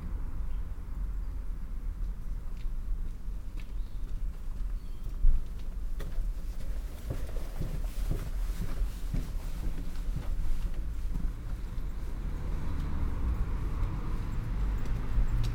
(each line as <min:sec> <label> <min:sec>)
0:00.0 traffic sounds 0:15.5
0:00.4 birds of all kinds 0:01.6
0:02.6 birds of all kinds 0:05.6